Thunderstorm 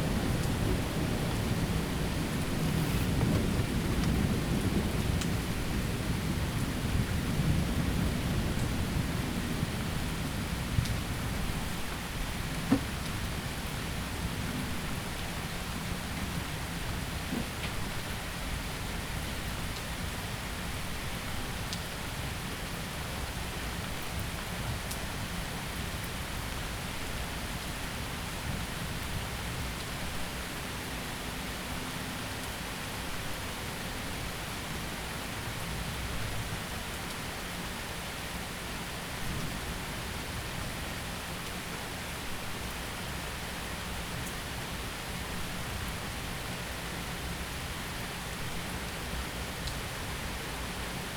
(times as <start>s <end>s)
0.0s 15.2s